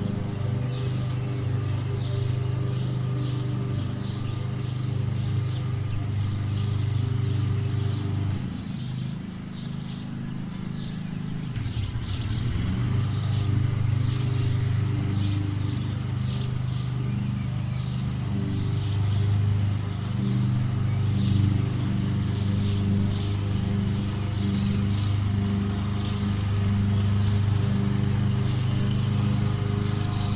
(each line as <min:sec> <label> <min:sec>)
0:00.0 biker is passing by 0:30.3
0:13.1 Church bells are ringing 0:30.3